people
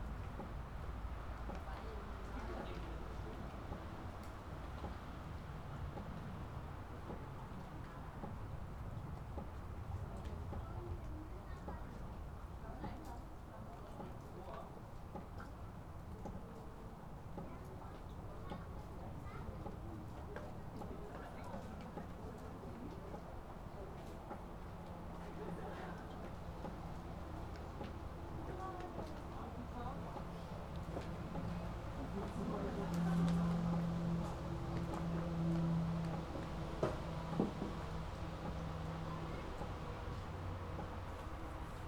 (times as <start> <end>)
17.4 41.8